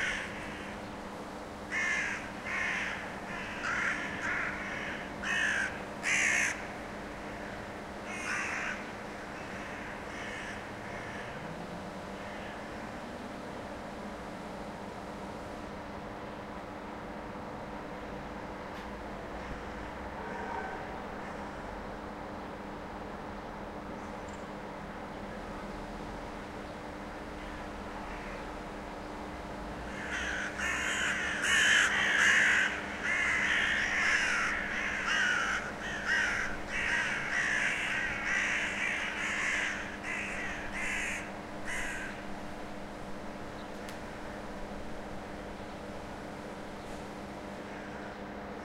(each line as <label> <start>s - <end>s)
Flock of crows fly & croak around a house 0.0s - 0.8s
Flock of crows fly & croak around a house 1.6s - 13.0s
Flock of crows fly & croak around a house 19.4s - 21.6s
Flock of crows fly & croak around a house 27.3s - 28.5s
Flock of crows fly & croak around a house 29.8s - 42.3s